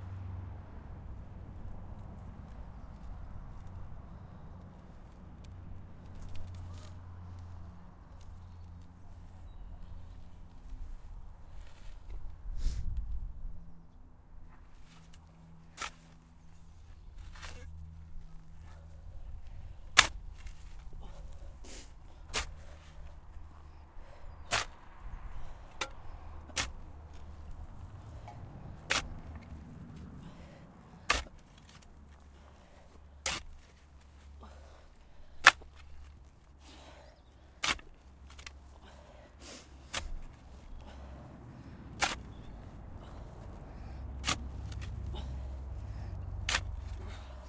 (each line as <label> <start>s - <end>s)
tiresome digging 0.3s - 47.4s
heavy breathing 20.8s - 26.4s
heavy breathing 29.5s - 31.4s
heavy breathing 32.2s - 33.2s
heavy breathing 34.0s - 35.8s
heavy breathing 36.5s - 37.7s
heavy breathing 38.6s - 47.4s